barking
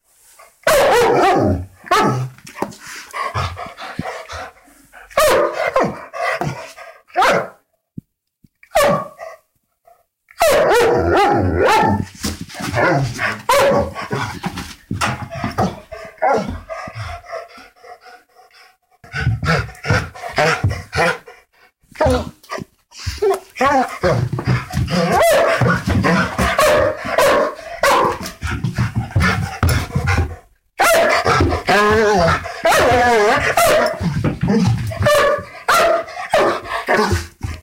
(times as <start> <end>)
0.6 2.3, 3.2 7.6, 8.7 9.4, 10.4 14.4, 15.4 17.2, 22.0 28.4, 29.1 37.6